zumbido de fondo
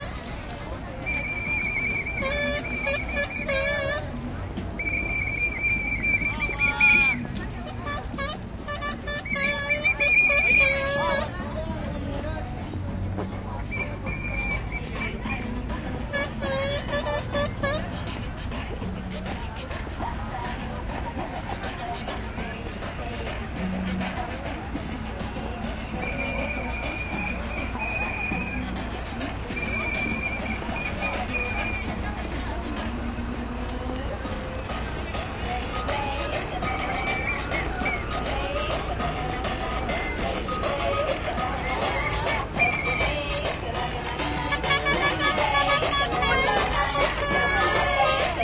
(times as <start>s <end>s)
34.0s 48.4s